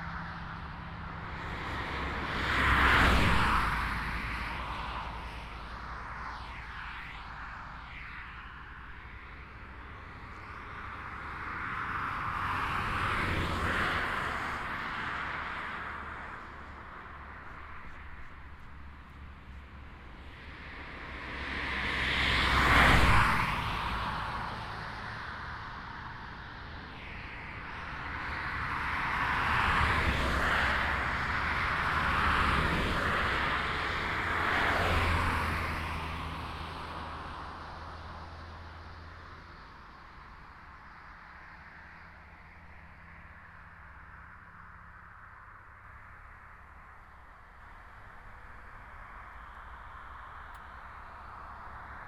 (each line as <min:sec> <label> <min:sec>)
0:00.0 motorbike passing by in both directions of the street 0:39.1